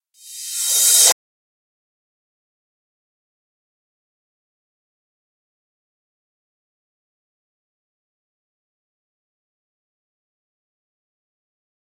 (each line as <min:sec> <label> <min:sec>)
0:00.2 Reverse Cymbal 0:01.2